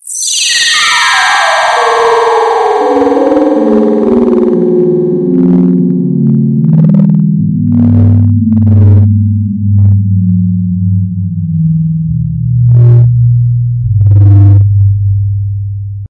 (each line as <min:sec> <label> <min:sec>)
0:14.0 fart 0:14.9